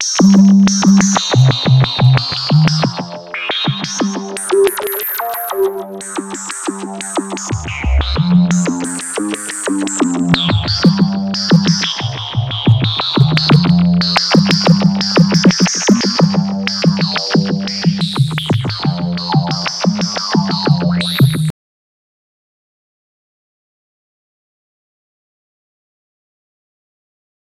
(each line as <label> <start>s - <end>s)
bass 0.0s - 21.5s
bleep 4.5s - 5.8s